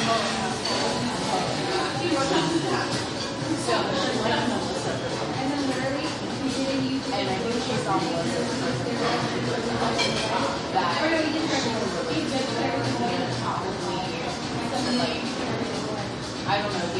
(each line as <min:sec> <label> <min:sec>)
0:00.0 dishes 0:03.6
0:00.0 kitchen sounds 0:16.9
0:00.0 people chatter 0:16.9
0:09.0 dishes 0:10.6